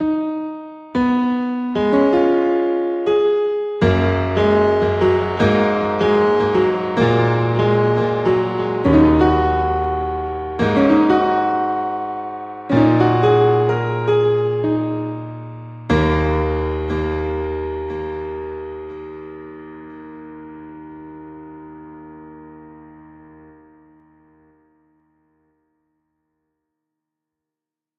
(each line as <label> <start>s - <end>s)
piano 0.0s - 26.2s